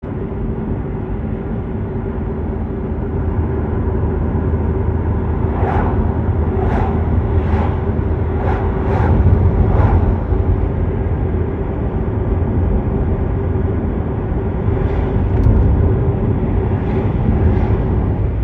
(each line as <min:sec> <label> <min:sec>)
0:00.2 A car driving 0:18.4
0:04.2 other cars pass 0:12.3
0:13.4 other cars pass 0:18.4